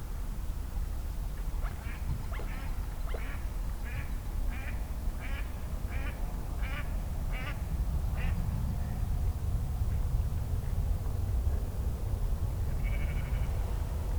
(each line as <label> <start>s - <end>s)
ducks 1.6s - 7.6s
wild geese 12.8s - 13.6s